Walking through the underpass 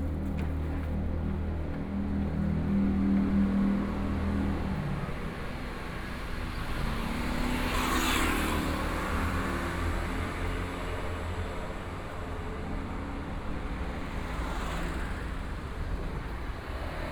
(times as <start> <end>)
0.0 5.0